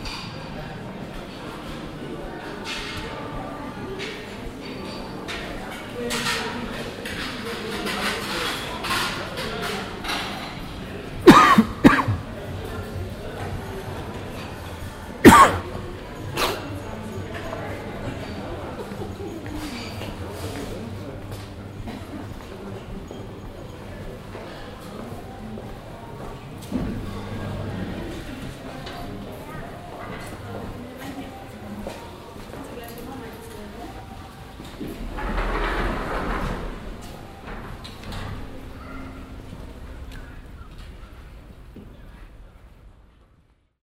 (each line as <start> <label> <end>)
11.2 hintergrundsmusiken 12.6
15.2 hintergrundsmusiken 16.7